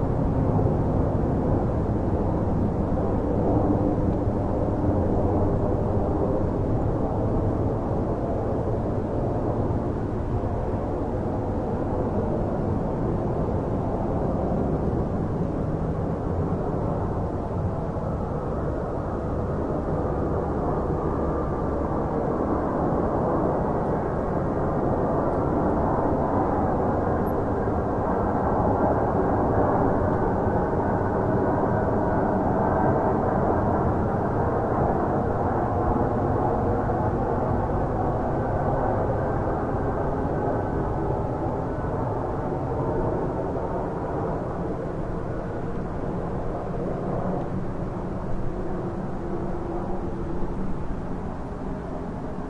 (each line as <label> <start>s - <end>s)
Plane Overhead 0.0s - 52.4s